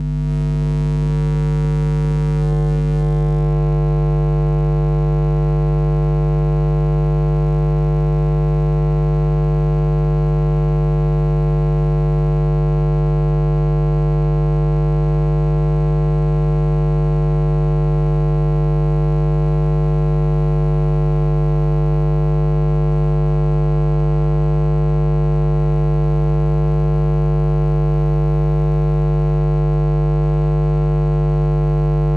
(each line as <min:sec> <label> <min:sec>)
0:00.0 buzz 0:03.7